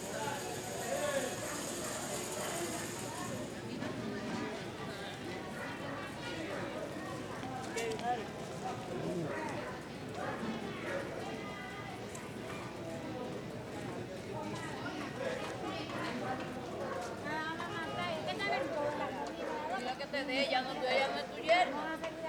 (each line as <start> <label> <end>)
0.0 wheels made of ball bearings 4.0
0.0 street sounds 4.2
0.0 street vendors with handcarts 20.4